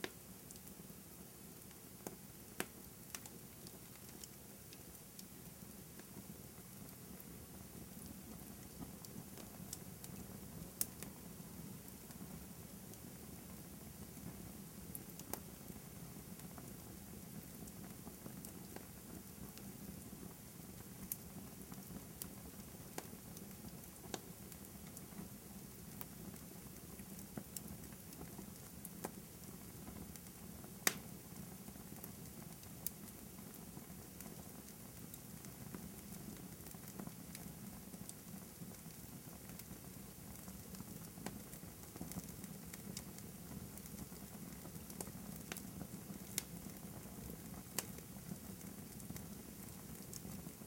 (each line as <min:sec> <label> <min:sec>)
0:00.0 small to medium fire in a fireplace 0:50.6
0:30.9 cracks and pops 0:31.1